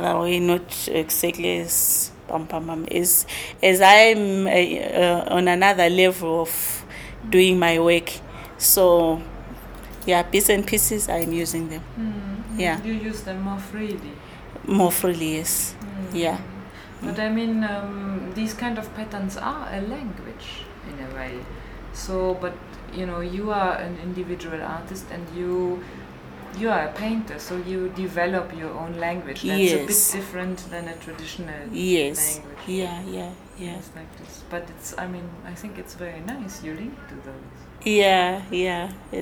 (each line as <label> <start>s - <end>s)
Nonnie talks 0.0s - 13.0s
Nonnie talks 14.6s - 17.3s
Nonnie talks 29.4s - 34.2s
Nonnie talks 37.8s - 39.2s